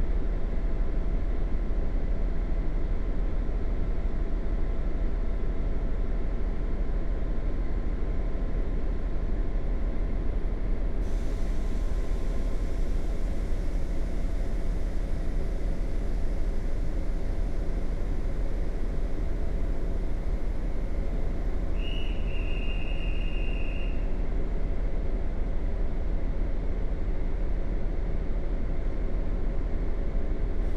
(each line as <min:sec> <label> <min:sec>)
0:00.0 diesel locomotive is leaving the station 0:30.7
0:10.7 Electric locomotive idling 0:27.1